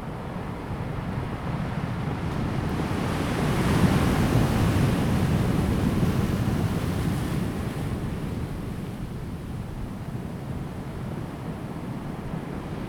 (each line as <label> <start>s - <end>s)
wind 0.0s - 12.8s